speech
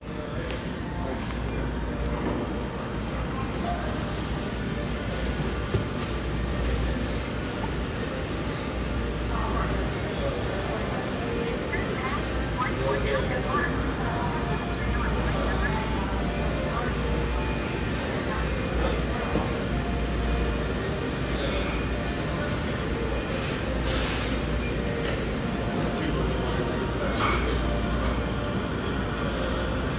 9.2 20.0

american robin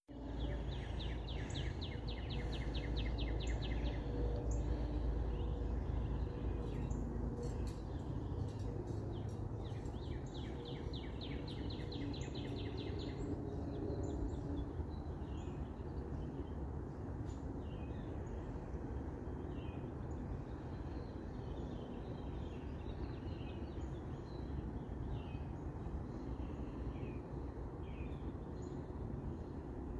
0.0 13.7

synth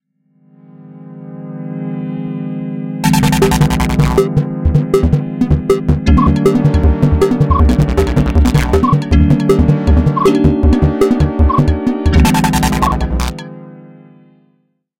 3.0 13.6

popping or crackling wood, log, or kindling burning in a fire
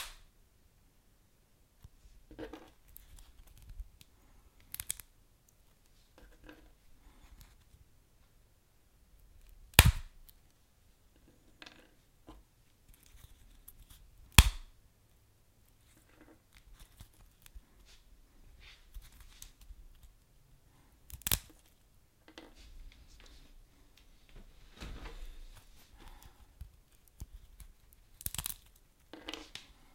0.0 0.2, 9.4 10.4, 14.3 14.7, 21.1 21.5, 26.0 28.8

